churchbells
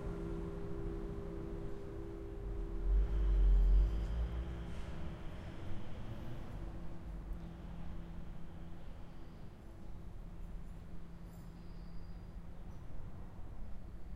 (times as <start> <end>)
0.0 4.9